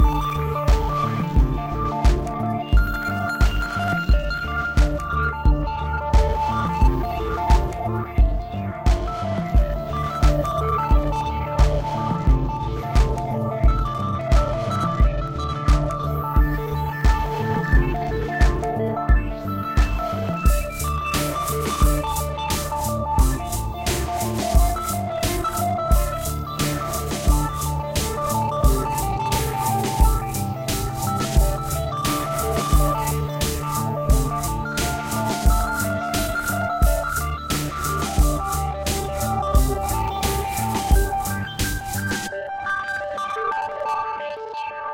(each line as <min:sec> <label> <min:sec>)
0:00.0 Drums 0:42.3
0:00.0 bass 0:42.4
0:00.0 synth 0:44.9